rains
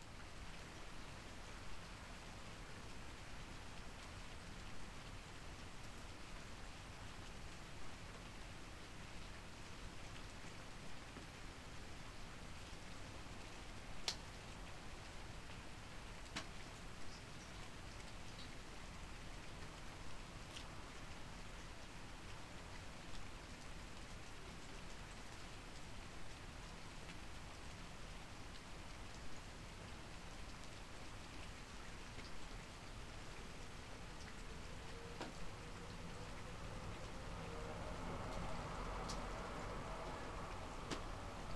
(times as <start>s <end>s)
12.5s 41.5s